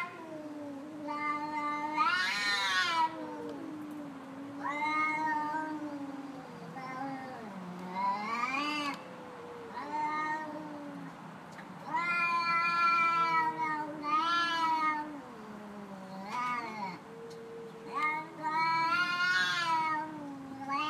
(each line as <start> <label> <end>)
0.0 cats having an argument 20.8